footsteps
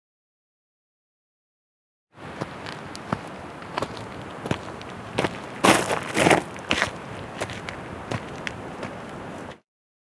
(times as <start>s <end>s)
2.2s 9.6s